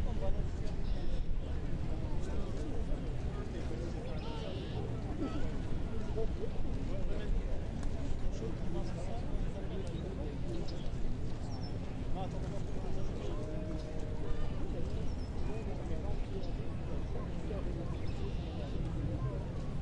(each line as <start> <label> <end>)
17.3 birds 18.9